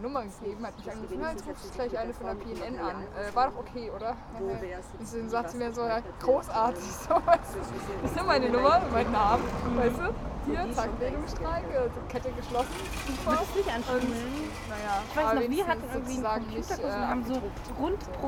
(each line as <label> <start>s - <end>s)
street ambience 0.0s - 18.2s
talk 0.0s - 18.2s